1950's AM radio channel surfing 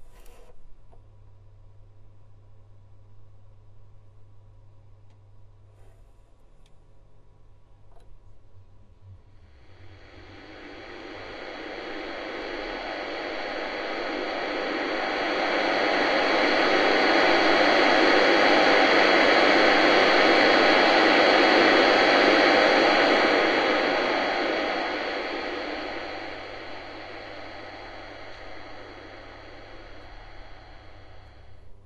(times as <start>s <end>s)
9.6s 31.7s